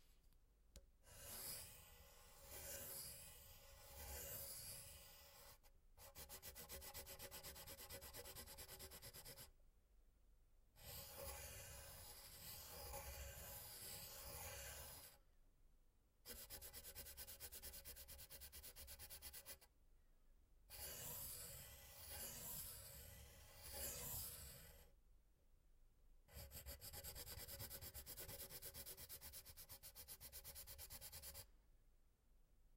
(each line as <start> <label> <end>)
1.0 doodling randomly on a paper with a soft tipped pen 9.5
10.8 doodling randomly on a paper with a soft tipped pen 15.2
16.2 doodling randomly on a paper with a soft tipped pen 19.7
20.7 doodling randomly on a paper with a soft tipped pen 24.9
26.3 doodling randomly on a paper with a soft tipped pen 31.5